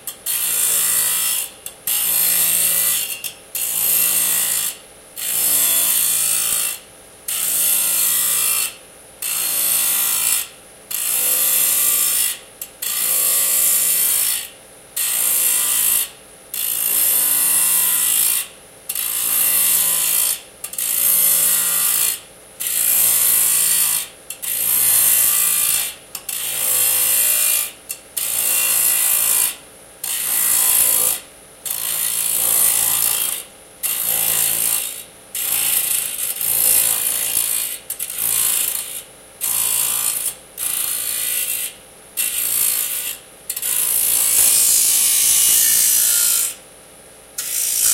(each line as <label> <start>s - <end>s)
Disk Saw Cuts Alluminium 41.0s - 46.6s
Disk Saw Cuts Alluminium 47.4s - 47.9s